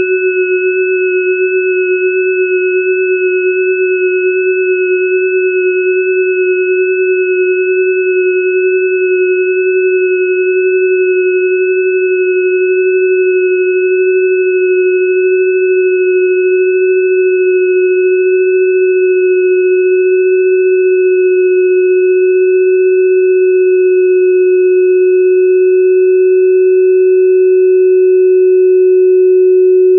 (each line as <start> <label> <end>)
0.0 sine wave intended as a bell pad 29.9